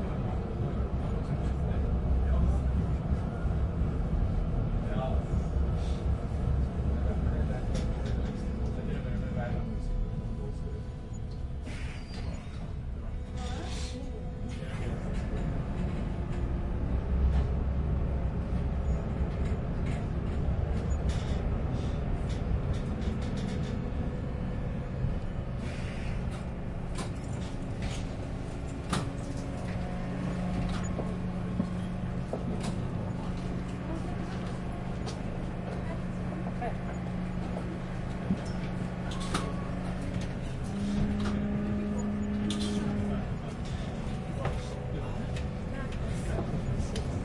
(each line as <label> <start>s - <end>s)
The tram drives, stops 0.0s - 47.2s
people gets on and off 26.3s - 47.1s